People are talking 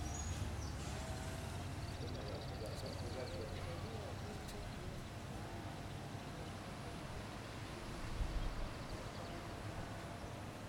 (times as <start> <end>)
1.8 5.1